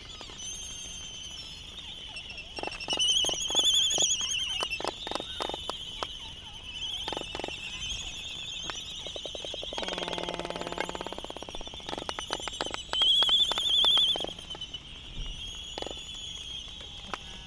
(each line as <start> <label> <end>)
1.5 voices 17.4